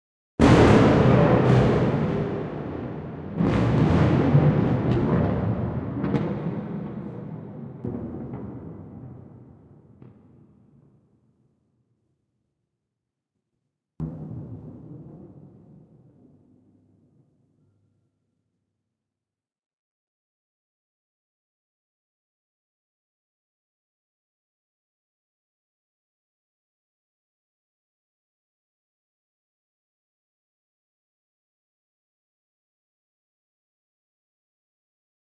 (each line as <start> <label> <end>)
0.4 thunder 10.6
14.0 thunder 16.7